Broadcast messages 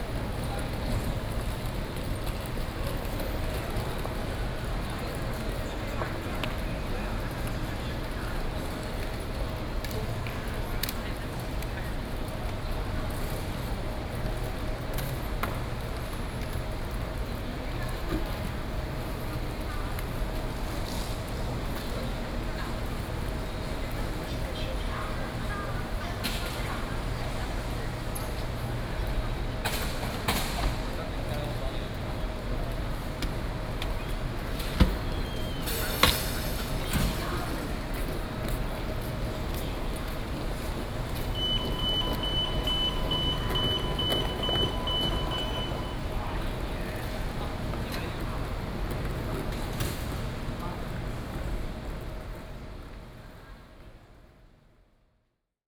0:39.8 0:47.3

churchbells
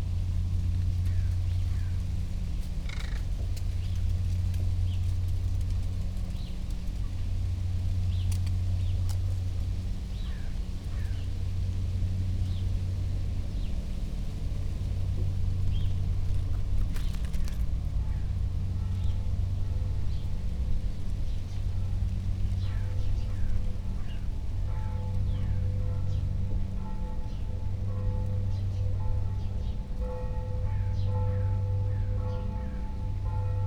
0:17.8 0:33.6

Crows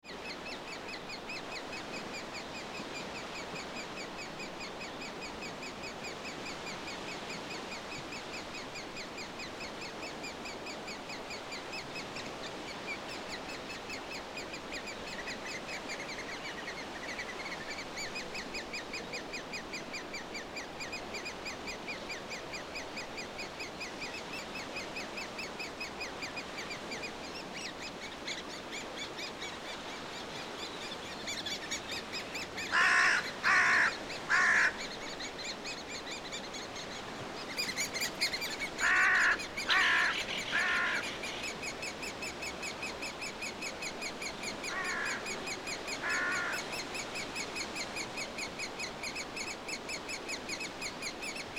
0:32.6 0:34.8, 0:38.8 0:41.5, 0:44.7 0:46.8

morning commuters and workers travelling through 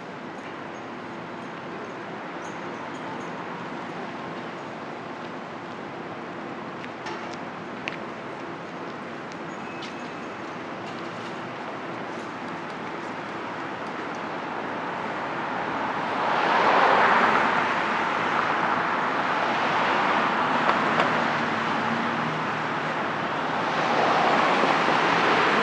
0:00.0 0:16.2

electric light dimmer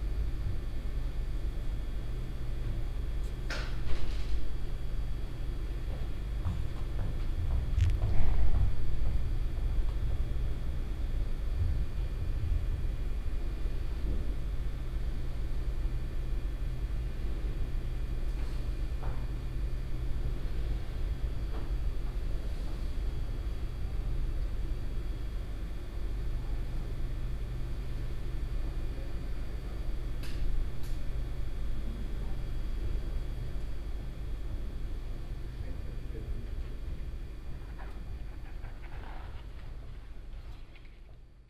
0:07.7 0:08.1

